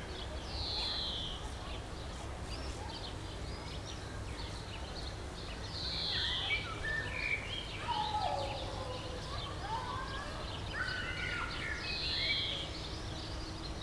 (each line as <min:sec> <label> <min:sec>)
0:07.6 kids playing in a distance 0:12.8